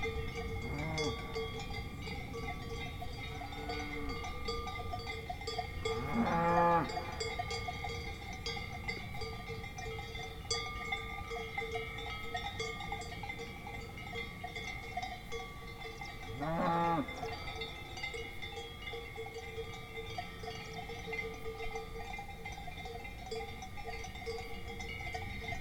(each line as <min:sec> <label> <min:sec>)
0:00.0 Swiss Cowbells 0:25.6
0:00.6 mooings 0:01.5
0:03.4 mooings 0:04.3
0:05.9 mooings 0:07.3
0:16.3 mooings 0:17.4